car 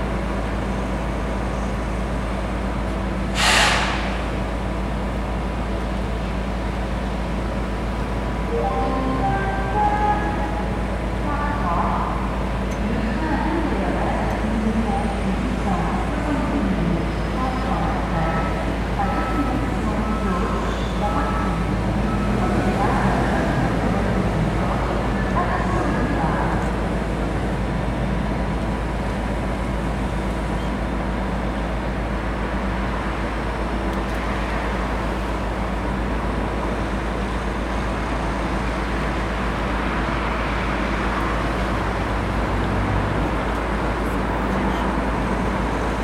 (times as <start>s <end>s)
0.0s 4.4s, 32.3s 46.0s